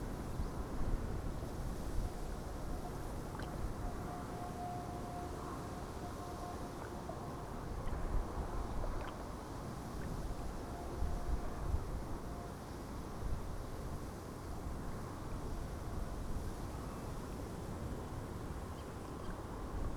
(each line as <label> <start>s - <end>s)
traffic noise of the motorway in the background 0.0s - 19.9s